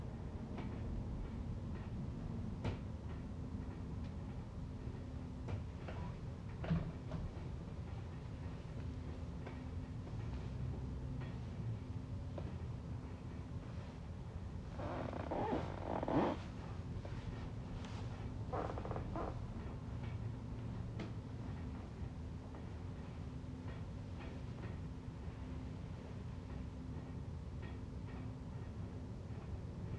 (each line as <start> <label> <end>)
14.7 floor creaking 17.2
17.9 floor creaking 19.4